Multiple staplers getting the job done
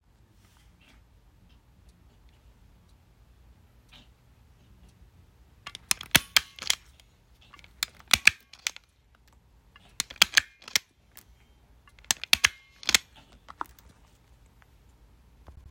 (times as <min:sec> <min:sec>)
0:05.7 0:07.0, 0:07.6 0:08.9, 0:09.8 0:10.9, 0:11.9 0:13.1